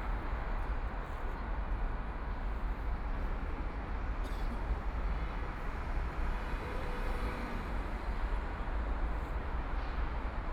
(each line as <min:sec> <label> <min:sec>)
0:03.9 Traffic noise 0:10.5